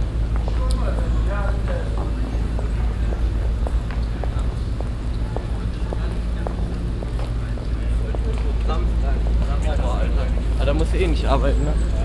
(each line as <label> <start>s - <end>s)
Strassenbahn in der Kurve 0.0s - 12.0s